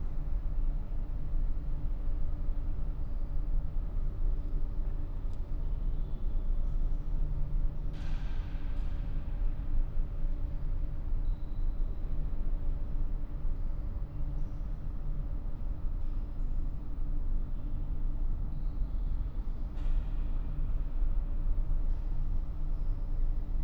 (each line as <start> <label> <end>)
0.0 air conditioner or a similar device is humming 23.6